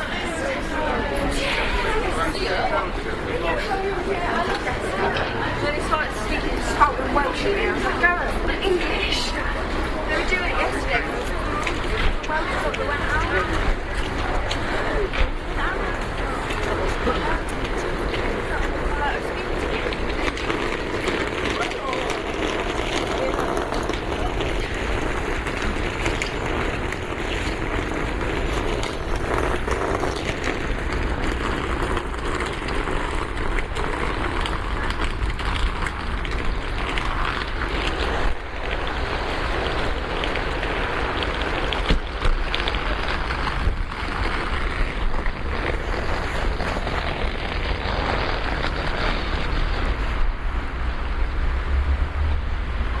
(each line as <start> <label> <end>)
0.0 getting off train 53.0